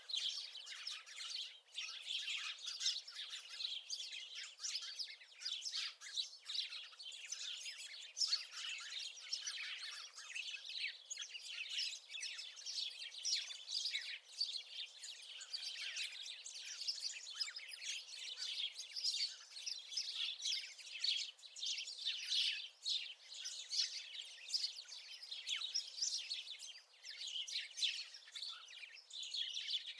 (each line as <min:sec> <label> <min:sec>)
0:00.0 Flock of sparrows chirping 0:29.9